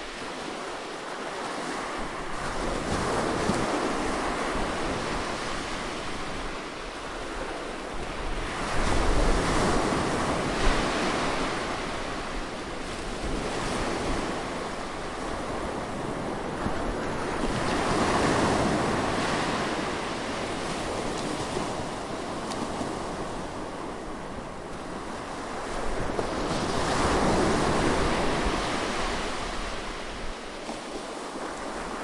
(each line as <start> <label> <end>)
0.0 Seaside Waves 32.0